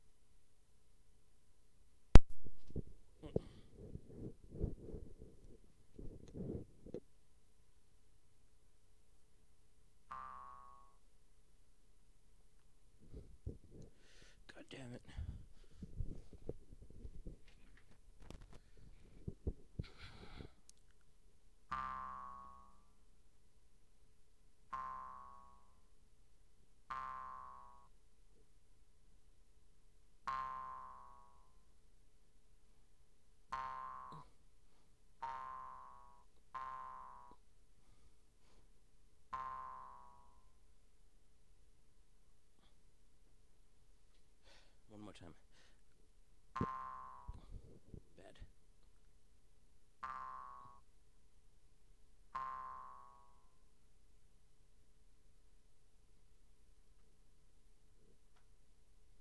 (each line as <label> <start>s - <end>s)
pluck the Jew's harp 24.7s - 25.6s
pluck the Jew's harp 26.9s - 27.8s
pluck the Jew's harp 35.2s - 37.4s
pluck the Jew's harp 39.3s - 40.4s
pluck the Jew's harp 46.6s - 47.6s
pluck the Jew's harp 50.0s - 50.8s
pluck the Jew's harp 52.3s - 53.3s